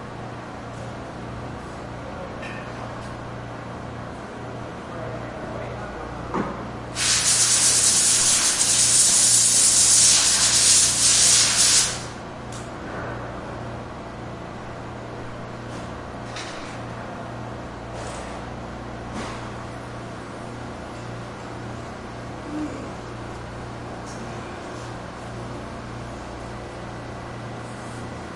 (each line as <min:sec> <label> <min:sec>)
0:07.0 compressed air blower cleaning something 0:12.2